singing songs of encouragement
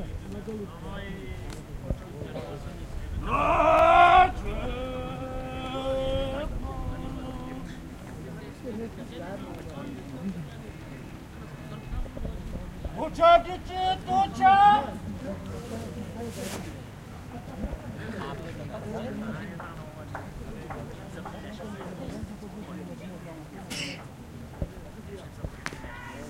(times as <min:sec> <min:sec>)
0:02.8 0:08.2